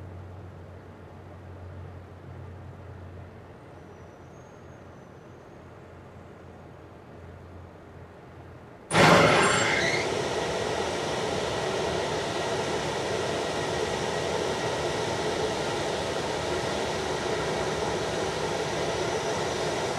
roar of a industrial rooftop ventilator coming to life 0:08.9 - 0:19.9

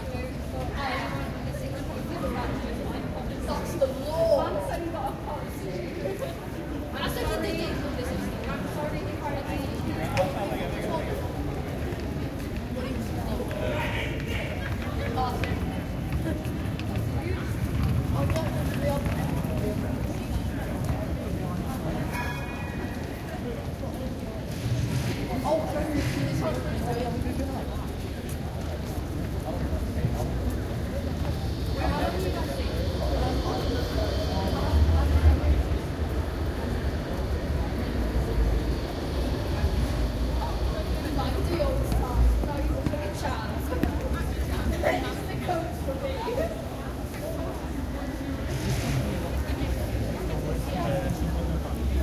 people 0:00.0 - 0:52.0
tram noises 0:14.7 - 0:45.8

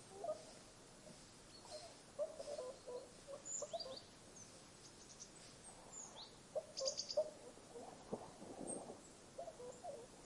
Swans 0:00.0 - 0:10.2
birdsong 0:01.5 - 0:07.9
Willow tit 0:01.5 - 0:07.3

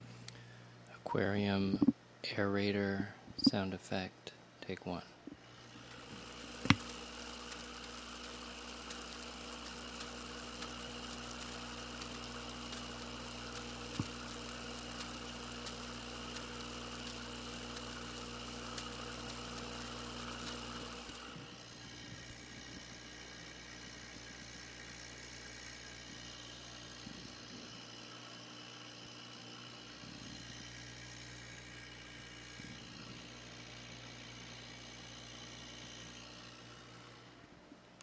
Aerator in 10 gallon aquarium 0:05.2 - 0:38.0

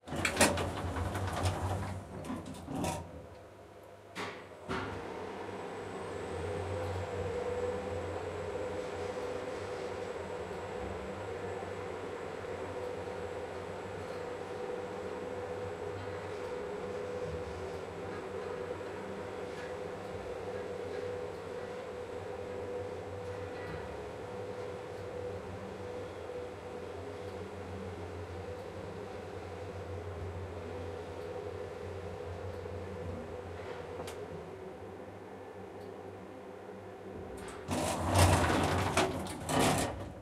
elevator goes down eight floors 0:00.0 - 0:03.3
doors close 0:00.1 - 0:03.2
doors open 0:00.1 - 0:03.2
elevator goes down eight floors 0:37.2 - 0:40.2
doors open 0:37.3 - 0:40.2
doors close 0:37.4 - 0:40.2

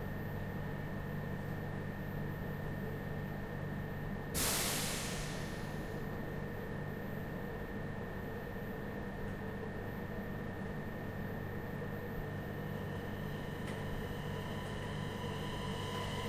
regional train taking off 0:04.4 - 0:06.4
regional train taking off 0:13.8 - 0:16.2

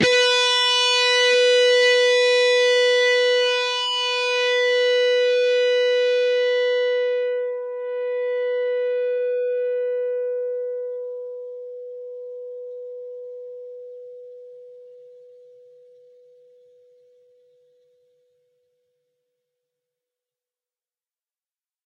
distorted guitar 0:00.0 - 0:12.2

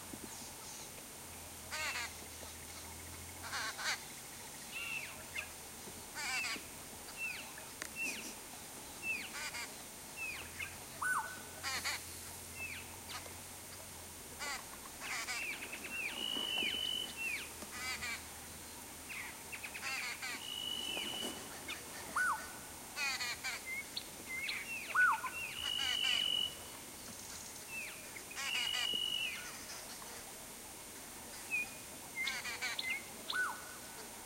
cape turtle dove 0:00.0 - 0:34.2
Calls of Black-headed Oriole 0:01.7 - 0:13.3
redbilled woodhoopoes (laughing sound) 0:01.7 - 0:18.4
brubru shrike 0:01.7 - 0:30.2
Calls of Black-headed Oriole 0:14.4 - 0:30.2
redbilled woodhoopoes (laughing sound) 0:19.1 - 0:26.6
redbilled woodhoopoes (laughing sound) 0:27.2 - 0:30.4
redbilled woodhoopoes (laughing sound) 0:31.2 - 0:34.1
Calls of Black-headed Oriole 0:31.3 - 0:33.9

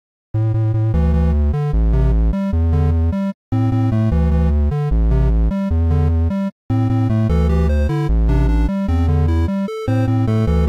8 bit music loop 0:00.5 - 0:10.6

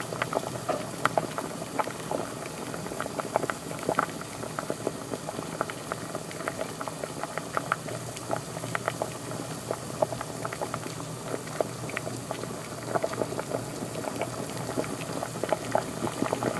Pot of Water Boiling 0:00.0 - 0:16.5

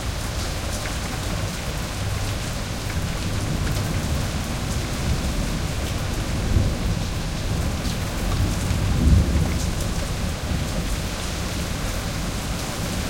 rain 0:00.0 - 0:13.0
thunder 0:03.1 - 0:11.1

